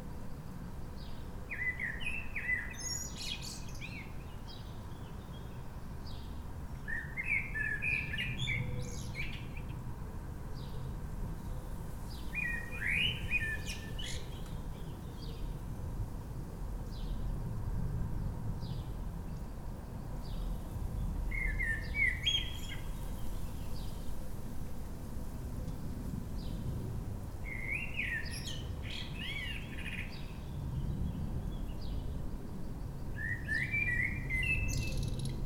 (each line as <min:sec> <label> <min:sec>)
0:01.1 Blackbird singing 0:05.5
0:06.1 Blackbird singing 0:09.7
0:12.3 Blackbird singing 0:15.5
0:21.3 Blackbird singing 0:24.0
0:27.5 Blackbird singing 0:30.9
0:33.2 Blackbird singing 0:35.4